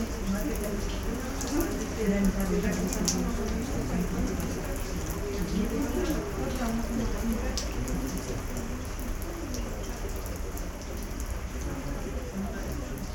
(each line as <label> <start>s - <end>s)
talks in a round thorn house / graduation tower 0.0s - 13.1s